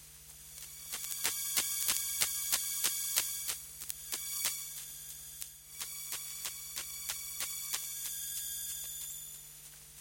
drone 0.6 - 9.4

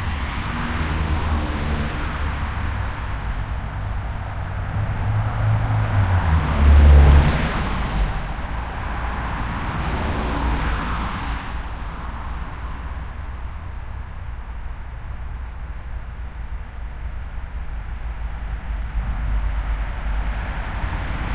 car traffic 0.0 - 21.3

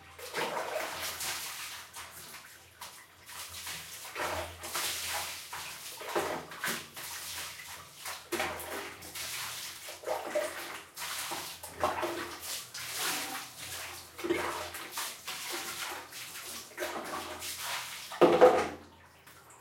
water 0.0 - 19.6

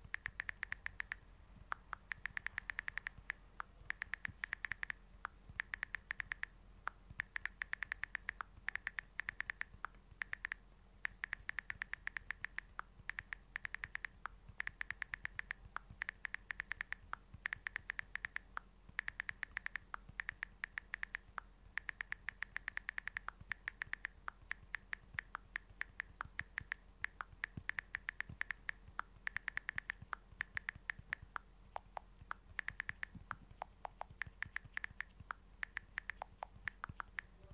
iPhone Texting 1.8 - 5.0

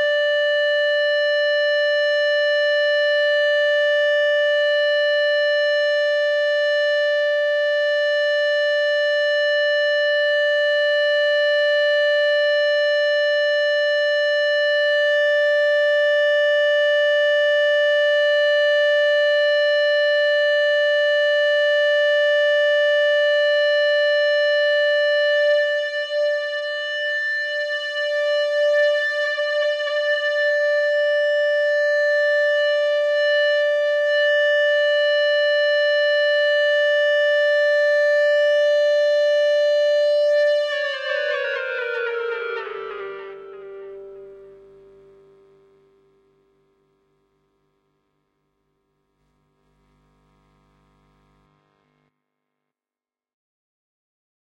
EBow guitar drone 20.2 - 47.6

